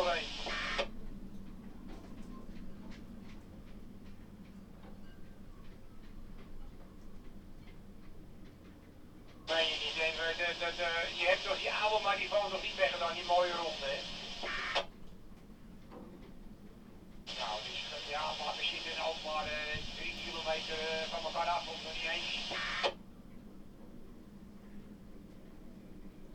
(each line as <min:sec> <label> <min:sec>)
0:00.0 radio traffic on channel 73 0:00.9
0:09.5 radio traffic on channel 73 0:14.9
0:17.3 radio traffic on channel 73 0:23.0